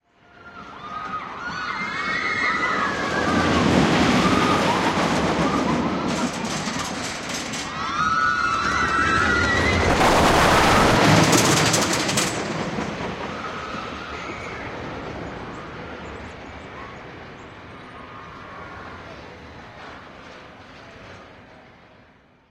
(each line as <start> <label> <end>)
0.1 roller coaster 22.5
0.3 screaming 6.4
0.4 people 22.1
7.7 screaming 10.1
13.3 screaming 14.8